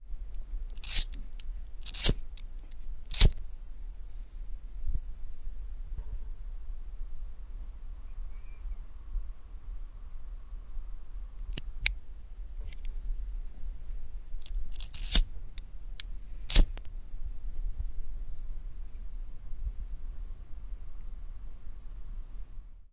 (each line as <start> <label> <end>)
0.2 fire 3.4
12.5 fire 22.6